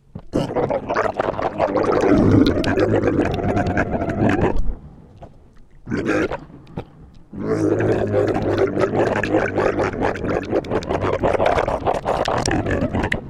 bad language 0.3 - 4.6
Monster gargling 0.3 - 4.7
roars 0.4 - 4.6
Monster gargling 5.8 - 13.2
roars 5.9 - 6.5
bad language 5.9 - 13.2
roars 7.3 - 13.2

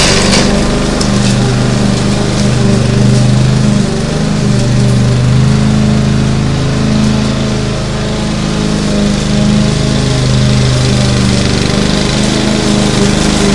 Lawnmower 0.0 - 13.5

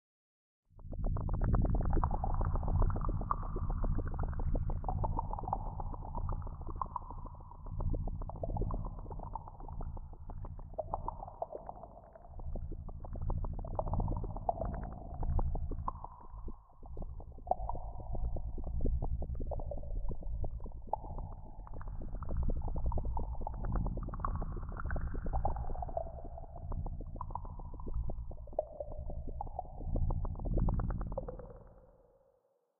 Boiling hot stew / bubbles 0.8 - 31.7

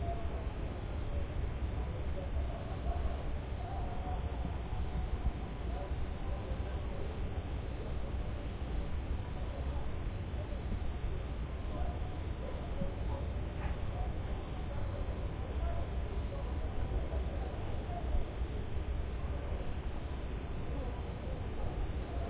crickets 0.0 - 22.2
frog 0.0 - 0.6
Dog barking 11.7 - 14.1

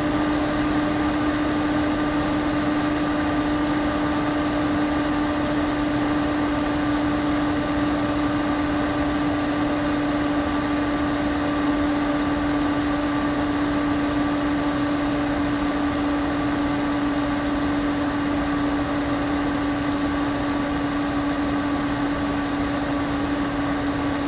Mac Pro Fans Speed Up 0.0 - 24.2

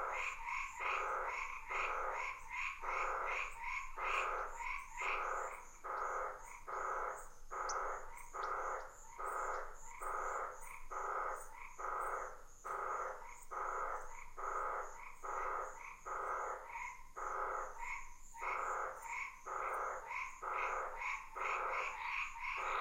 Frogs 0.0 - 22.8

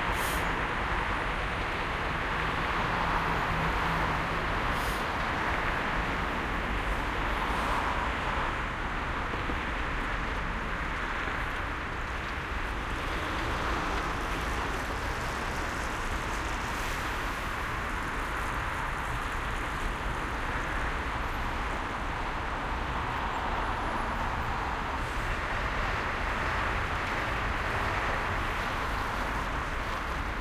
heavy traffic 0.0 - 30.4

